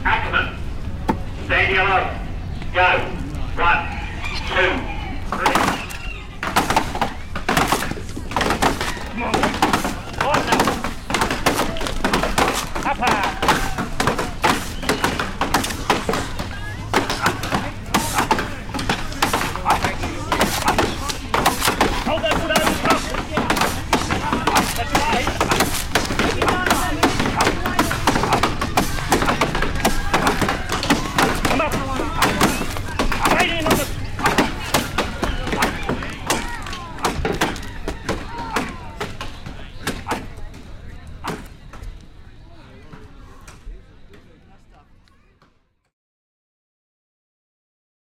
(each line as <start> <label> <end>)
0.1 wood chopping competition 3.9
3.7 poultry in the background 6.4
4.5 wood chopping competition 44.4